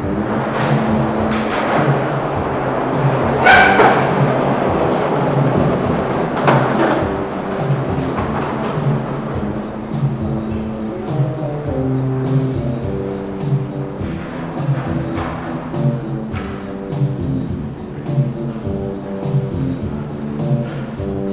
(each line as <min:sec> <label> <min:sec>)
0:00.0 drum machine 0:21.3
0:00.0 playing songs from Soviet films on his bass 0:21.3